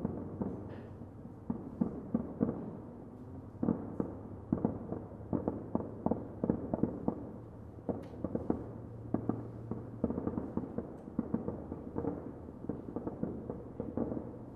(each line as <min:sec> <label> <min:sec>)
0:00.0 Fireworks in the distance 0:14.5